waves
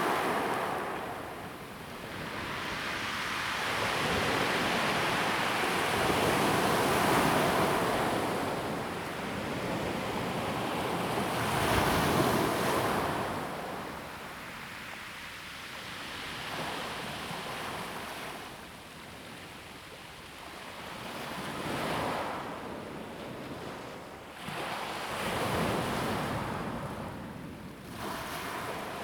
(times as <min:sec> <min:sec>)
0:00.0 0:14.6, 0:27.8 0:29.0